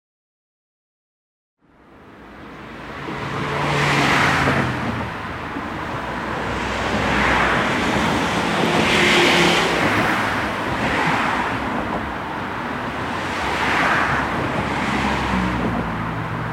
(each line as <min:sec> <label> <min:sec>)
0:01.6 cars crossing a bridge 0:16.5
0:01.7 tram passing by in opposite direction 0:16.5